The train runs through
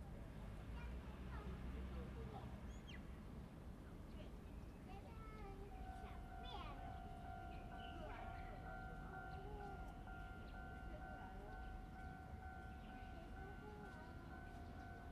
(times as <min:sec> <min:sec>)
0:05.1 0:15.1